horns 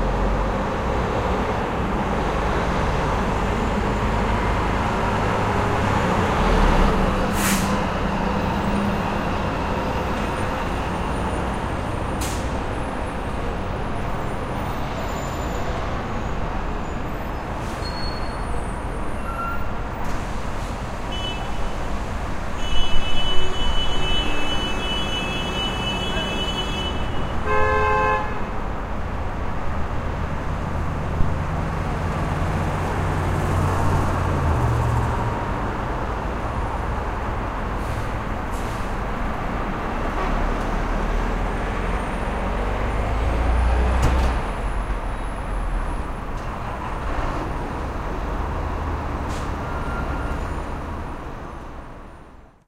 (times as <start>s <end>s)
22.6s 28.5s